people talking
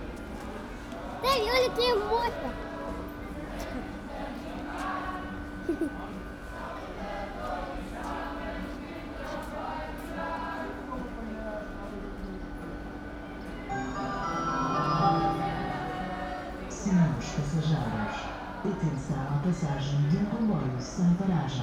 1.2s 2.7s, 5.7s 6.2s, 13.8s 21.6s

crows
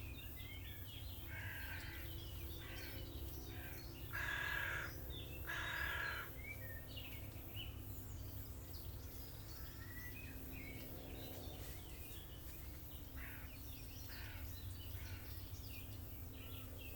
1.3s 6.3s, 13.2s 15.4s

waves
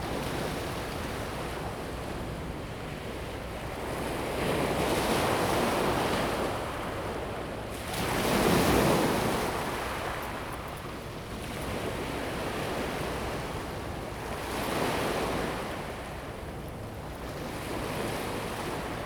11.4s 19.0s

